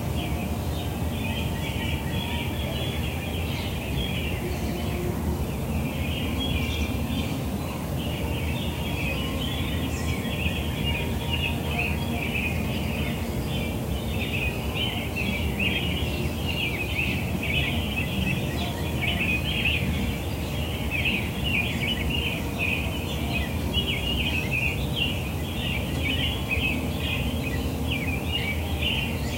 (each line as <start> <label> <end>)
0.0 American robins 29.3
0.0 low hum of traffic 29.3
0.0 northern cardenals 29.3
0.0 trains in the distance 29.3